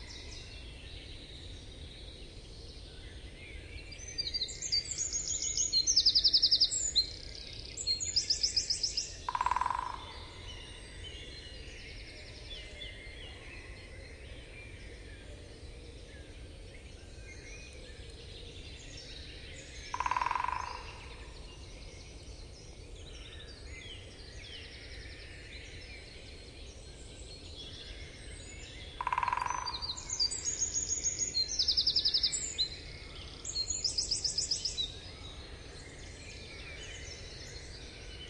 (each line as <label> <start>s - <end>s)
Hammering woodpecker 9.3s - 10.0s
Hammering woodpecker 19.9s - 20.9s
Hammering woodpecker 29.0s - 29.8s